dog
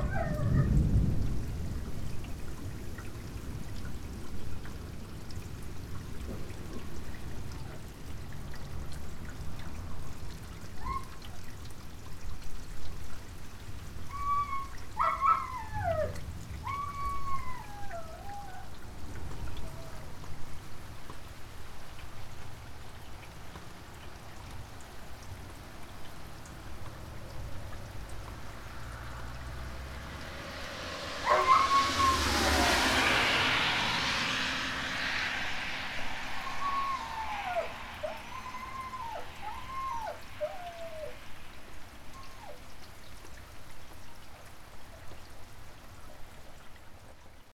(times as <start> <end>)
0.0 0.7, 15.0 16.9, 31.2 32.2